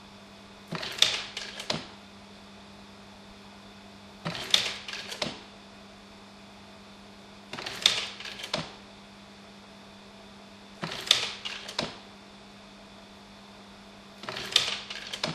0.7s old carousel slide projector 2.0s
4.2s old carousel slide projector 5.5s
7.5s old carousel slide projector 8.8s
10.8s old carousel slide projector 12.1s
14.2s old carousel slide projector 15.3s

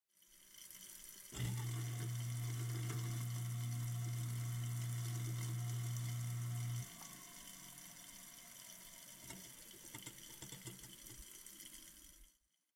0.1s running water 12.5s
1.4s garbage disposal rumble 6.9s

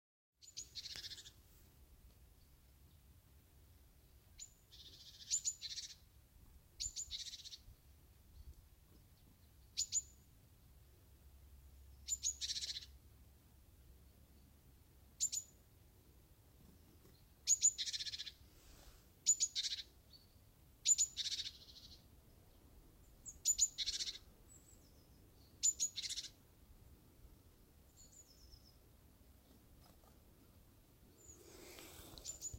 0.4s Chickadee singing in the woods 32.5s

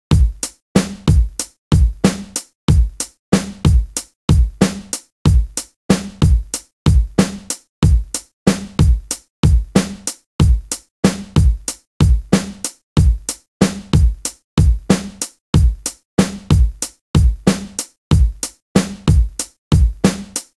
0.0s Drum loop 20.5s

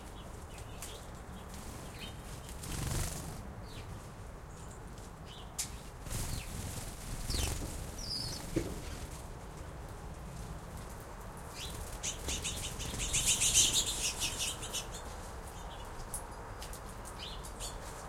0.6s Wing flaps flying many bird feeder sparrows 3.9s
5.7s Wing flaps flying many bird feeder sparrows 9.3s
10.7s Wing flaps flying many bird feeder sparrows 18.0s

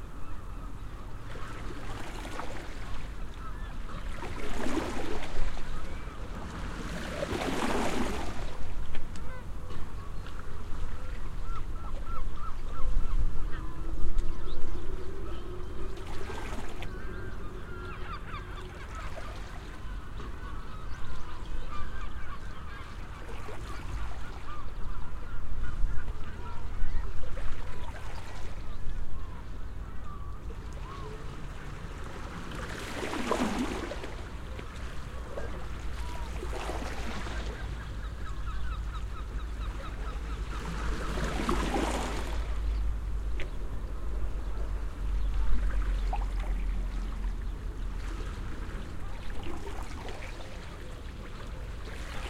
0.0s Waves lapping 52.2s
0.0s Seagulls 8.3s
9.2s Seagulls 31.8s
32.7s Seagulls 42.4s

